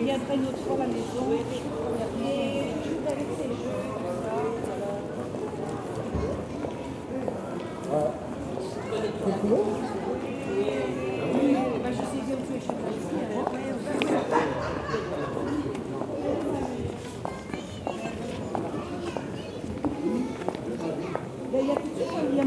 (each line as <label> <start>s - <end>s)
small walk 0.4s - 14.4s
small walk 15.3s - 22.4s